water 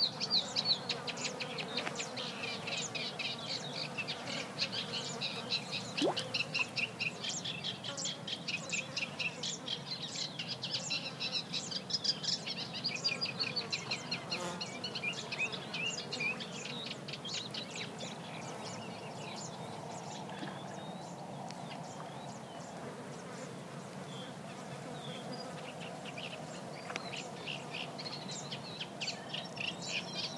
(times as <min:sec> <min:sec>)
0:04.7 0:07.2